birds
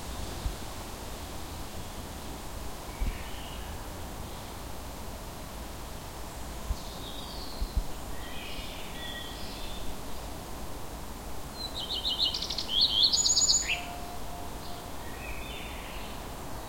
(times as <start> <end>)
11.6 16.6